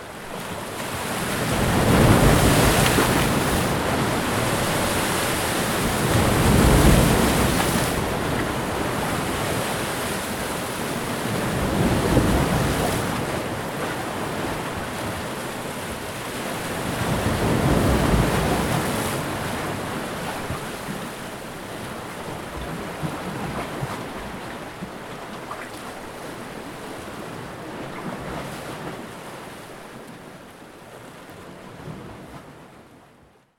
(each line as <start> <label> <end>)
0.0 Heavier waves breaking against shoreline rocks 33.2